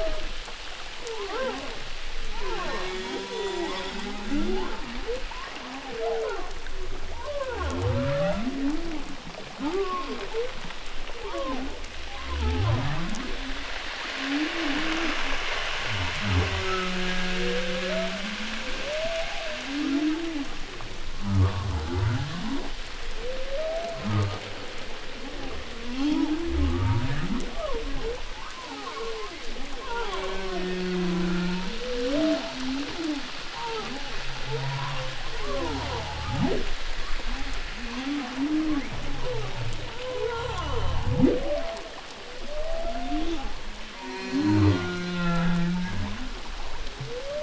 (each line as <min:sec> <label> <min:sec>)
0:00.0 humpback whales 0:47.4